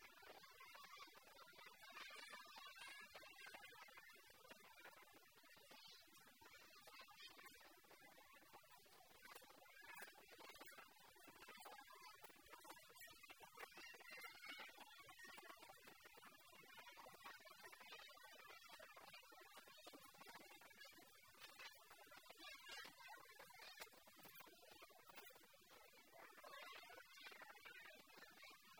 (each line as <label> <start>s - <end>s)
children 0.0s - 28.7s